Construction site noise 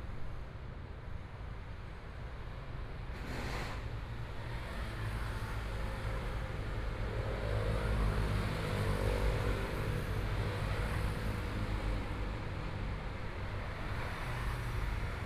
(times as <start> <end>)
3.1 4.5